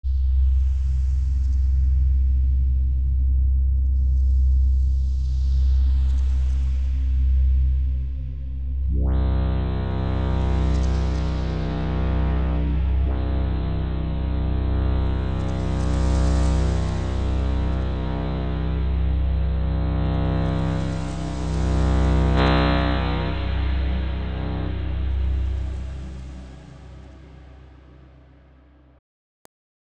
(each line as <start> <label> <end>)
8.8 Deep Pads 28.0